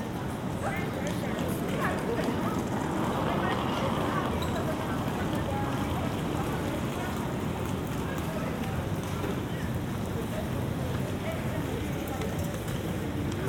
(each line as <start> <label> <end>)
0.0 trains passing above 10.8
0.0 People passing by 13.4
0.4 conversations 8.7